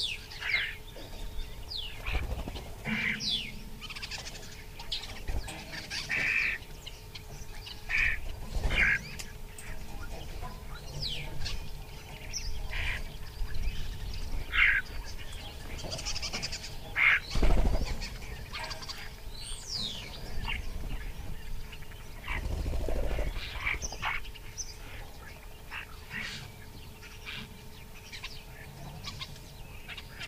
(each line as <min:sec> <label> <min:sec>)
0:00.0 wings 0:26.5
0:00.0 birds (mostly Starling) calling 0:30.2